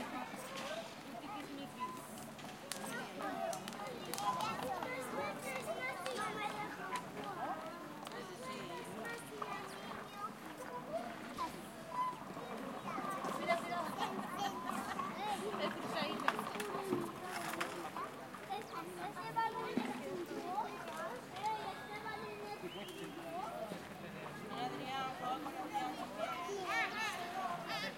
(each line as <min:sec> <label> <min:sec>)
0:00.0 children 0:27.9
0:00.0 parents 0:27.9